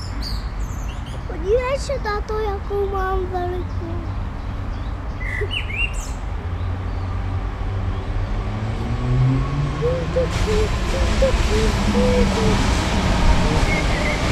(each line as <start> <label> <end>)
0.0 street traffic 14.3
5.1 Black bird 6.2
9.7 singing with my daughter 14.3